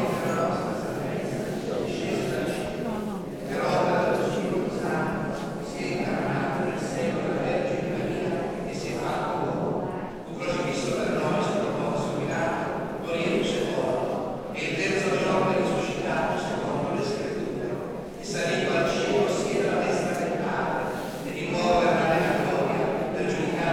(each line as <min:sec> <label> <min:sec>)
0:00.0 church service 0:23.7